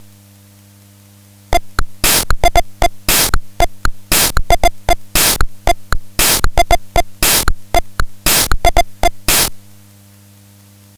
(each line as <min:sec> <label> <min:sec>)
0:01.6 drum pattern 0:09.7